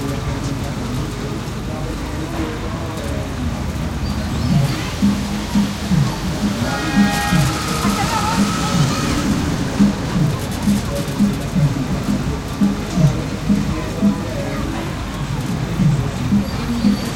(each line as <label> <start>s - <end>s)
child amusement rides 0.0s - 17.1s
crowd 0.0s - 17.1s
music 4.1s - 17.1s